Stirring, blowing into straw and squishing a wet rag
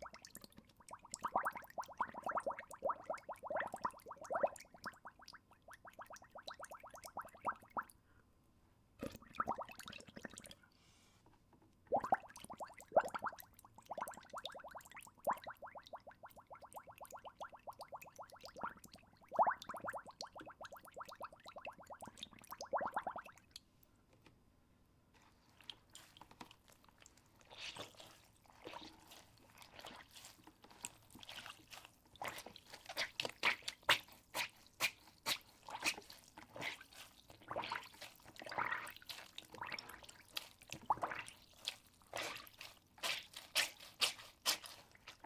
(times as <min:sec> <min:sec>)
0:00.0 0:07.9, 0:25.2 0:45.2